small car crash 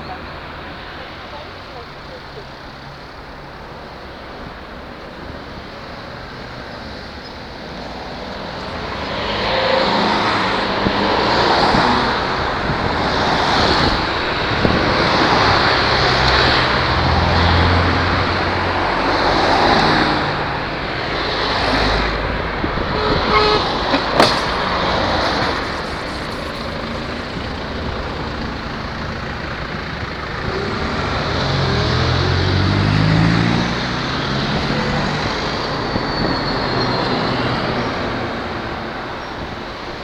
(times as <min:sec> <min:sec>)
0:23.4 0:27.9